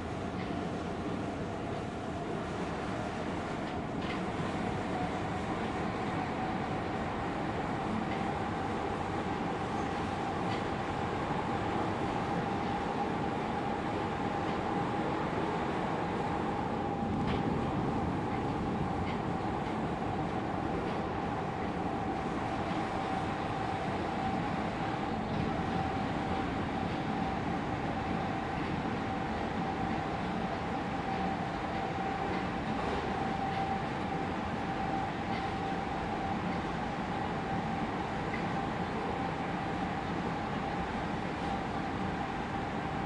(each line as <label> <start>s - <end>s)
riding the train 0.0s - 43.0s